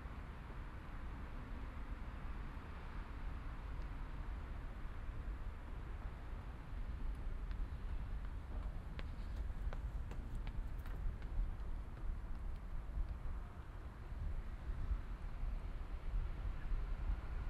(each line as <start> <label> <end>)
6.0 jogger 14.6